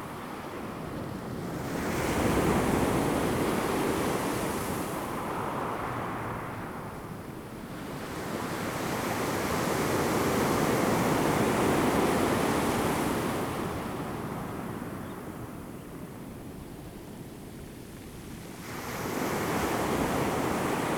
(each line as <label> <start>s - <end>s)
waves 18.7s - 20.9s